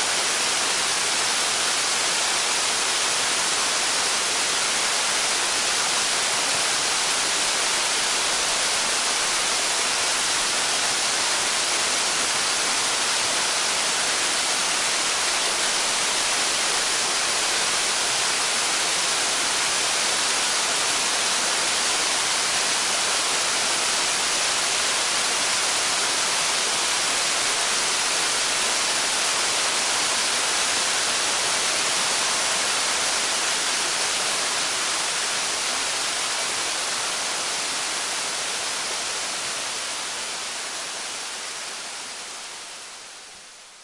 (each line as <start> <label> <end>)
0.0 Medium-sized waterfall 43.8